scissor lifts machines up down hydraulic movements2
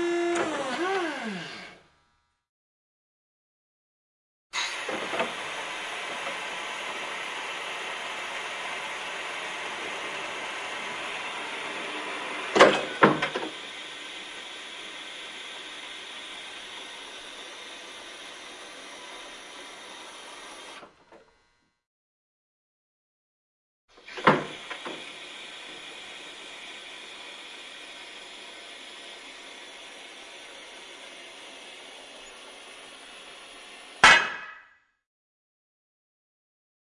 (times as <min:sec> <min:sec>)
0:00.0 0:01.8, 0:24.0 0:34.1